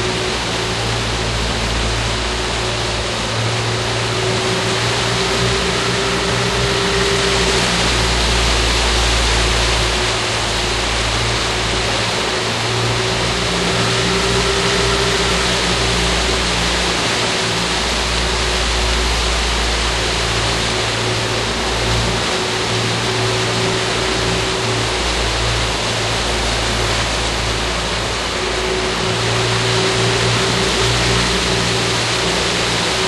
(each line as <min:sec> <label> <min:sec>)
0:00.0 Outboard engine 0:33.0